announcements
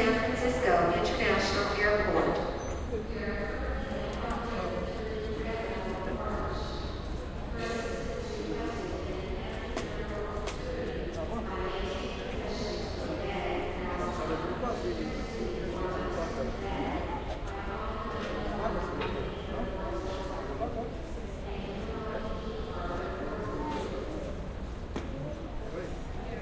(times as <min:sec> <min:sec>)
0:00.0 0:06.7